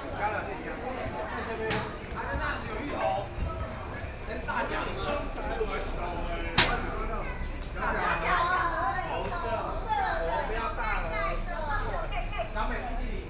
0.0s Walking through the Tourism Winery 10.0s
0.0s Many tourists 13.2s

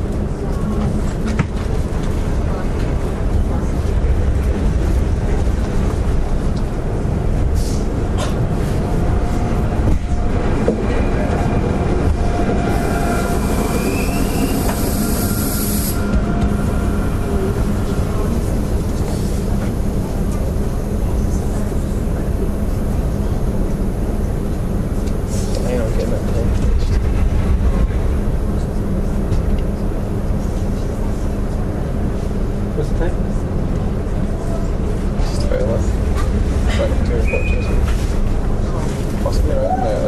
0.0s train 40.0s

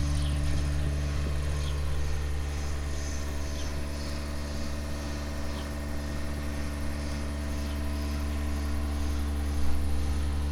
0.0s cow shed drone 10.5s

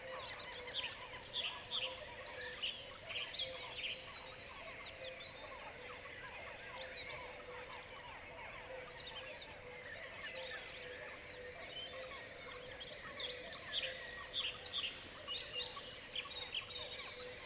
0.0s cuckoos 17.4s
0.0s other birds 17.4s
3.4s seagulls 14.6s

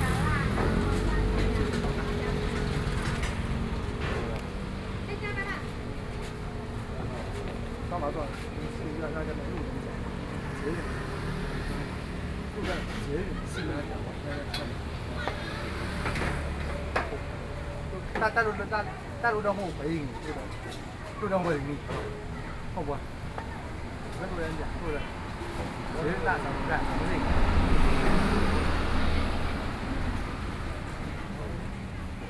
0.0s Traffic Sound 32.2s

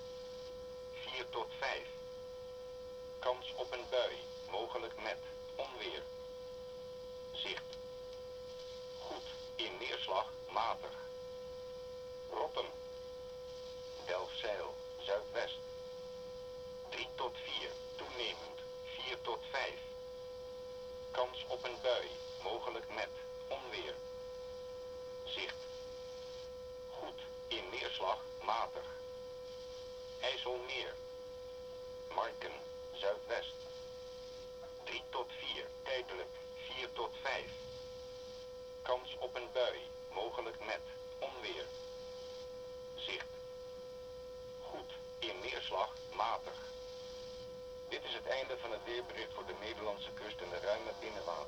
26.9s wheather forecast of the netherlands coastguard 29.0s
30.2s wheather forecast of the netherlands coastguard 31.0s
44.6s wheather forecast of the netherlands coastguard 46.6s
47.9s wheather forecast of the netherlands coastguard 51.4s

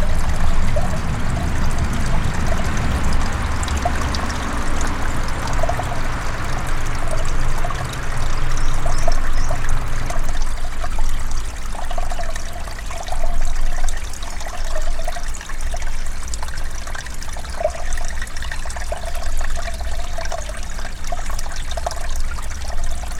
0.0s car passing nearby 10.7s

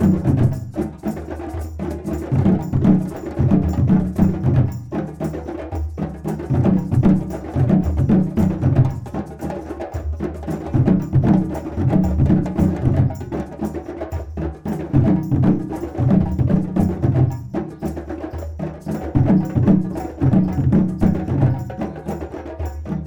0.0s played djembe 23.0s

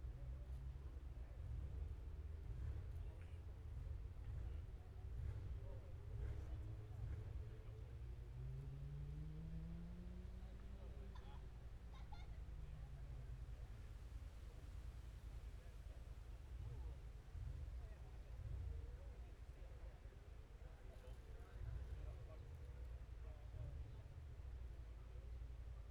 5.0s Motorcycle Road Racing 11.2s

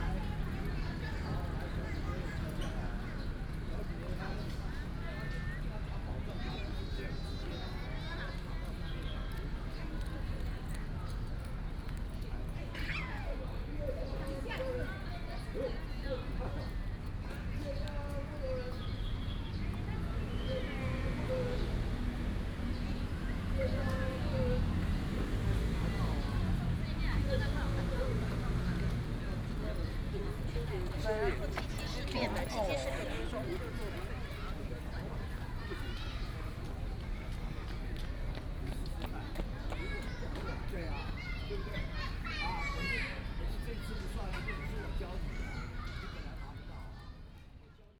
0.0s Children Playground 47.9s

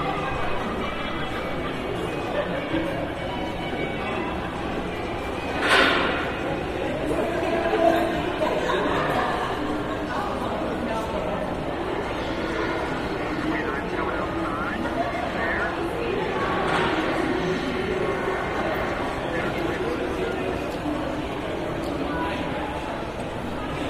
0.0s children played nearby 13.4s
0.0s rides for children 23.8s

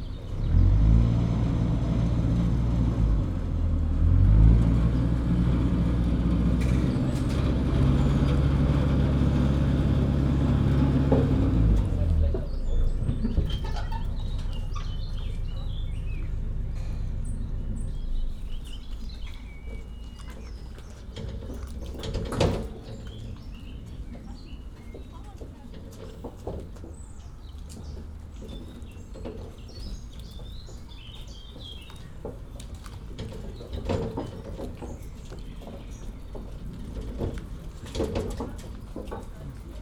0.0s ferry boat 39.8s
5.7s people waiting 28.7s

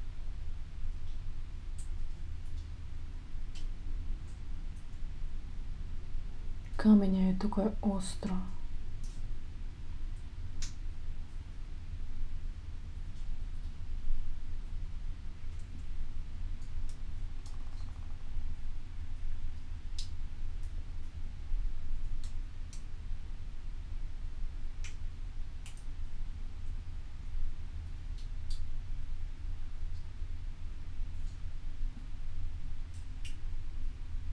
6.8s words 8.6s

